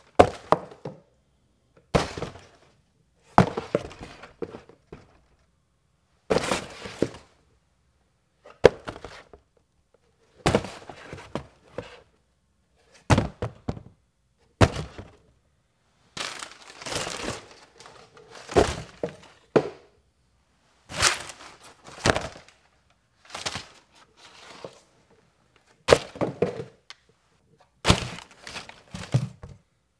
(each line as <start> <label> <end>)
16.2 Rustling Cardboard 19.9
20.9 Rustling Cardboard 24.9